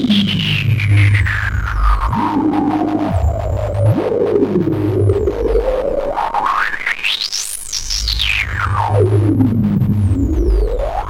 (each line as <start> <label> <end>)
0.0 textures, tones and noise 11.0